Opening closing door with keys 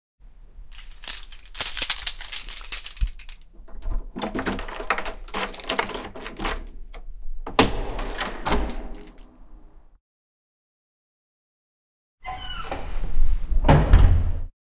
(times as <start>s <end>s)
0.8s 9.8s